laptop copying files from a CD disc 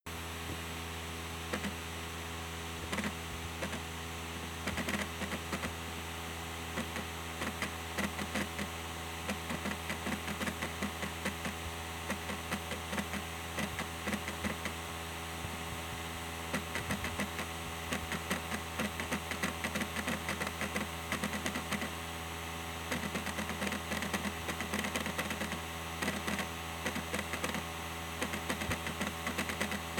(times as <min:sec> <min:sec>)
0:02.9 0:03.8, 0:04.7 0:05.7, 0:06.8 0:14.8, 0:16.5 0:22.0, 0:22.9 0:29.9